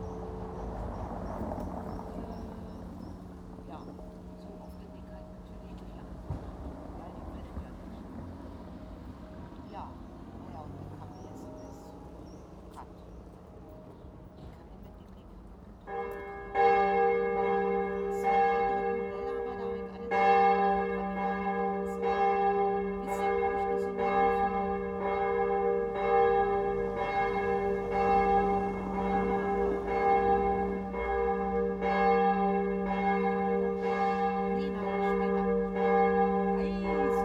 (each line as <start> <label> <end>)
0.0 noon bells 37.2
0.6 conversations 28.0
28.8 conversations 37.2